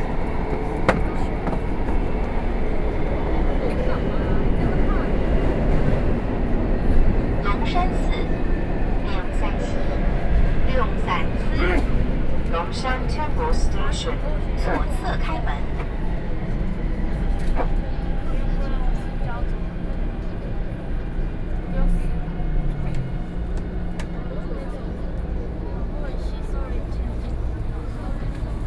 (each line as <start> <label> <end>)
0.0 subway 28.6